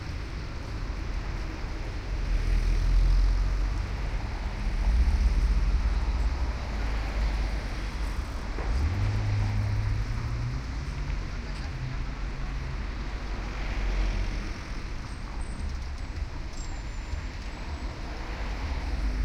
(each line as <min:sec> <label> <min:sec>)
0:00.0 cars 0:19.2
0:00.0 motorbikes 0:19.2